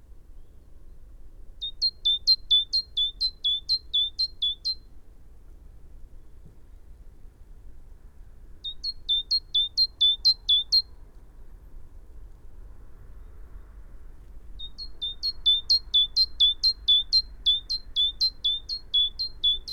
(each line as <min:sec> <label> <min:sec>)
0:00.0 background noise 0:19.7
0:01.6 calls and song from a bird 0:04.8
0:08.6 calls and song from a bird 0:10.9
0:14.6 calls and song from a bird 0:19.7